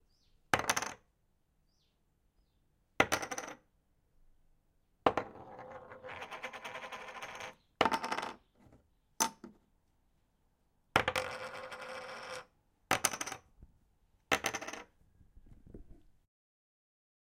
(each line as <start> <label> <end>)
0.6 Poker Chips landing on a wooden Table 1.0
3.0 Poker Chips landing on a wooden Table 3.6
5.1 Poker Chips landing on a wooden Table 9.6
11.0 Poker Chips landing on a wooden Table 13.4
14.3 Poker Chips landing on a wooden Table 14.9